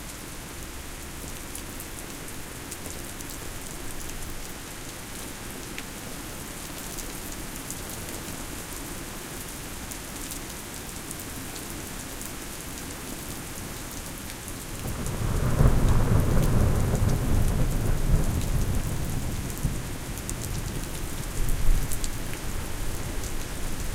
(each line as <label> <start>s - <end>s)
Rain 0.0s - 23.9s
low frequency rumble of the thunder 14.8s - 22.0s